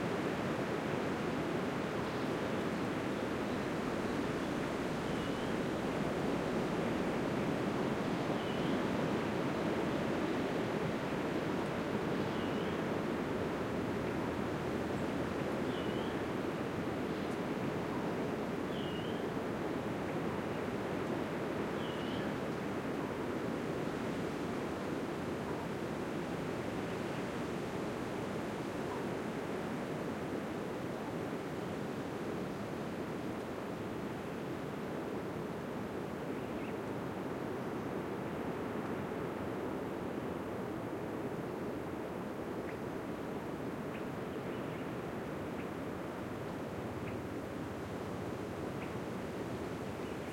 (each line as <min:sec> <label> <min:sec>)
0:00.0 wind 0:50.3
0:21.8 birdsong 0:22.4